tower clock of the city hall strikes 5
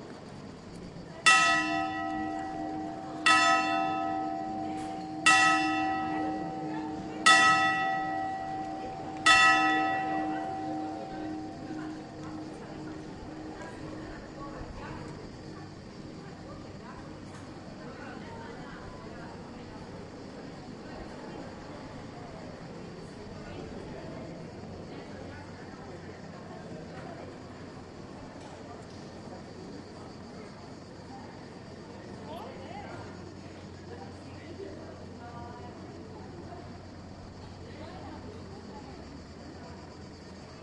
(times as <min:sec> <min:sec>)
0:01.2 0:18.0